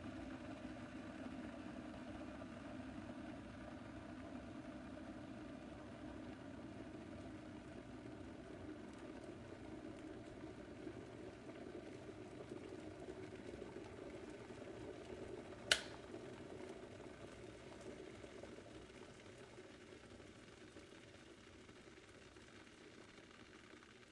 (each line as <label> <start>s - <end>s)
Electric water boiler 0.0s - 24.1s